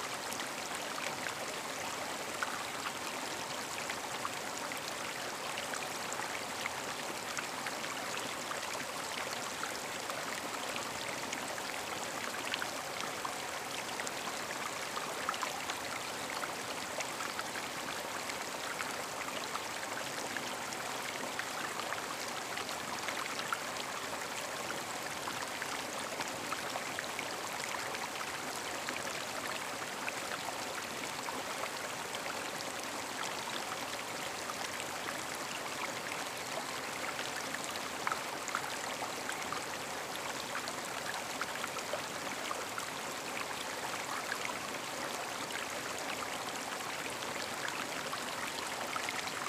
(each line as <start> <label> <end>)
0.0 creek 49.4